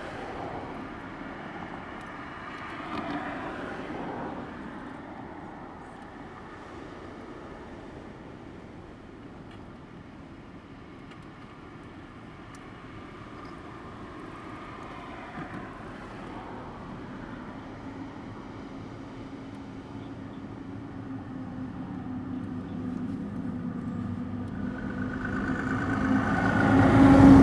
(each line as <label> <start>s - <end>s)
Traffic 0.0s - 27.4s